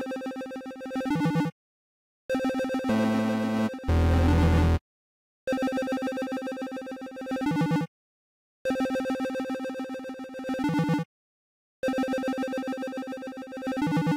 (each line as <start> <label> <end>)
2.3 music 4.8
11.8 music 14.1